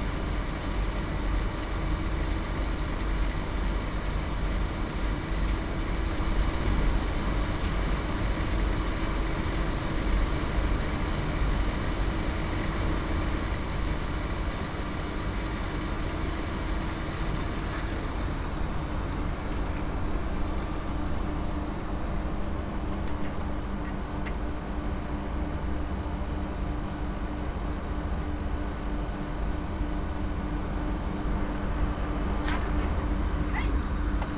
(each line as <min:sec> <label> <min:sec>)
0:00.0 outdoor airco system 0:34.3